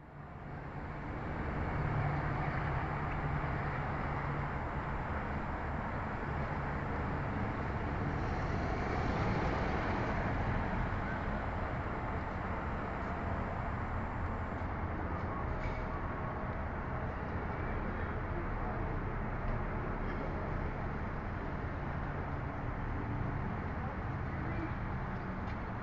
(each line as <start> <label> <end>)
0.0 city noise 25.8